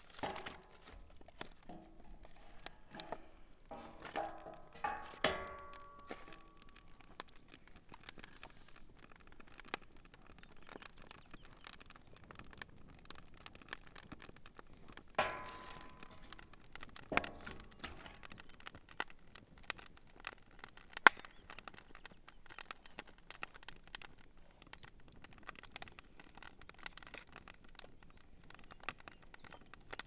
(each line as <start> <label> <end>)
0.0 log is added to the fire 21.7
0.0 camp fire 30.0